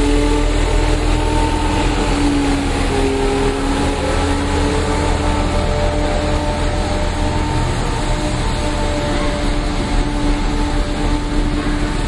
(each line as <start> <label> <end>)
0.0 Street cleaning 12.0